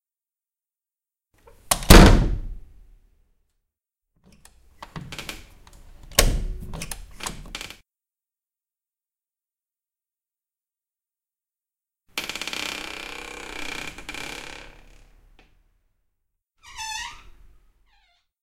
Creaking Door 0:04.8 - 0:07.8
Creaking Door 0:12.2 - 0:15.5
Creaking Door 0:16.6 - 0:18.4

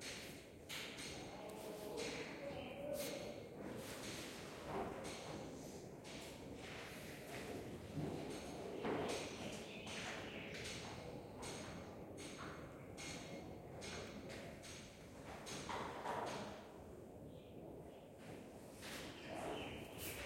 small sound of a construction work 0:00.0 - 0:20.2
whisperings 0:01.2 - 0:03.6

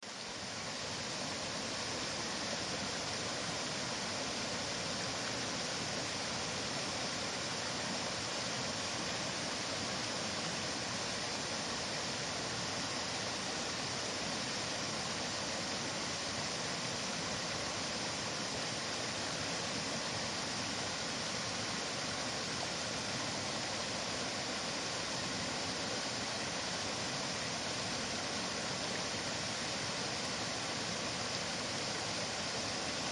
waterfall 0:00.0 - 0:33.1
mountain creek flowing 0:00.0 - 0:33.1

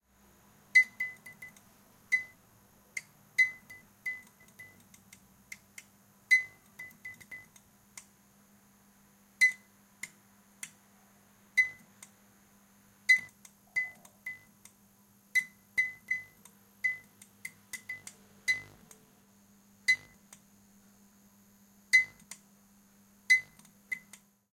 Bad Fluorescent lamp clicks 0:15.4 - 0:19.0
Bad Fluorescent lamp clicks 0:22.0 - 0:22.5
Bad Fluorescent lamp clicks 0:23.3 - 0:24.3

